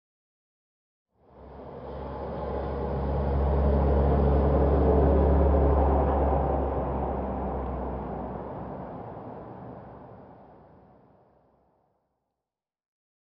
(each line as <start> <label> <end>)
1.2 car passing by 11.6